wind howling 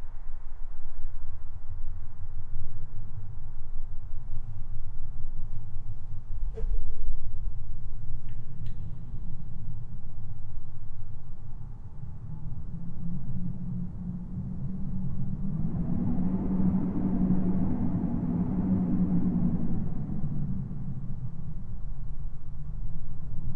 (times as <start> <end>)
11.3 23.5